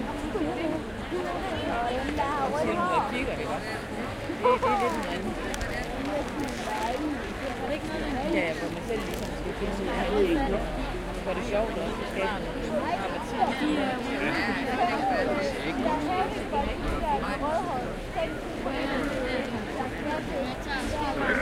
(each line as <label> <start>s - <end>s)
big crowd chatter 0.0s - 21.4s
laughter 4.4s - 5.0s